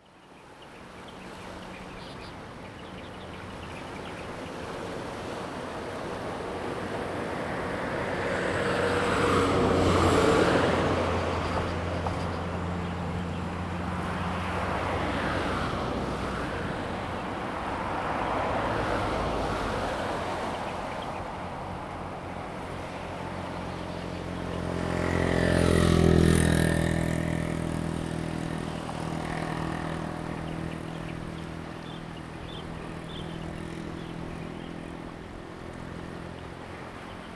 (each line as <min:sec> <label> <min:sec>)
0:00.0 Birds sound 0:05.0
0:00.1 waves 0:37.3
0:02.8 traffic sound 0:37.3
0:18.0 Birds sound 0:37.3